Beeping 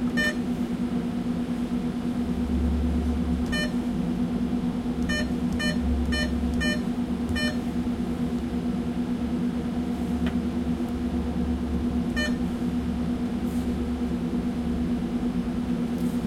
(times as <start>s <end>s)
0.0s 0.4s, 3.4s 3.8s, 5.0s 7.6s, 12.1s 12.4s